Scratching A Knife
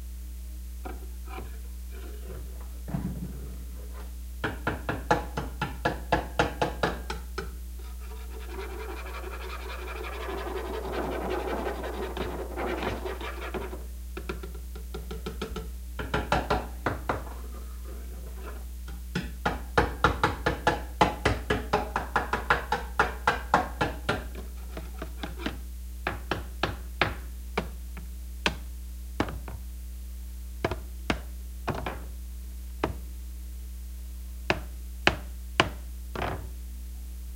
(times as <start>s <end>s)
7.8s 13.8s, 17.3s 18.7s